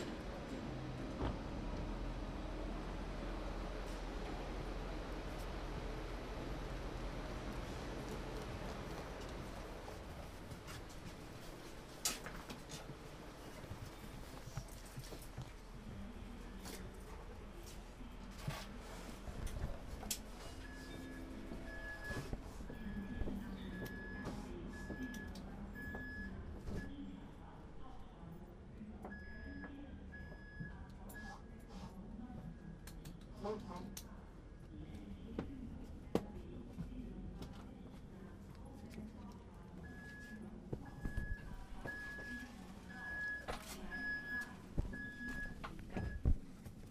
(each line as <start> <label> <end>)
0.0 Riding with the tram 27.7